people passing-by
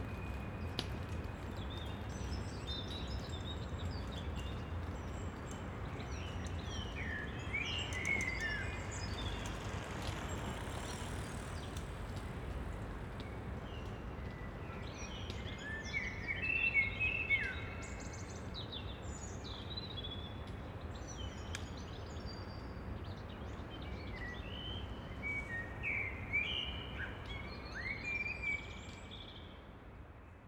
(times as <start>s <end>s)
7.8s 13.6s